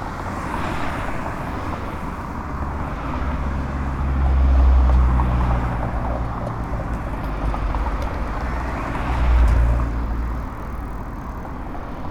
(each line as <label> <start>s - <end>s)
Traffic 0.0s - 12.1s